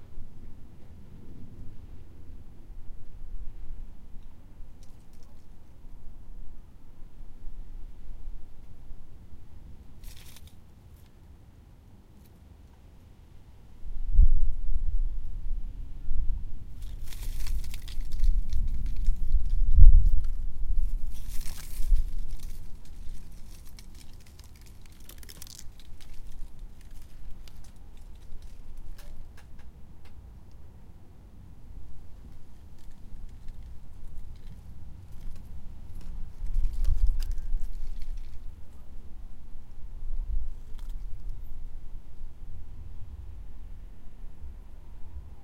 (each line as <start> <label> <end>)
0.0 wind noise on the microphone 10.2
0.0 very dry-leaves moving and rustling on the pavement 13.2
13.8 wind noise on the microphone 30.2
16.1 very dry-leaves moving and rustling on the pavement 43.6
21.0 Wodden garden parasol creaks 29.7
31.5 wind noise on the microphone 45.4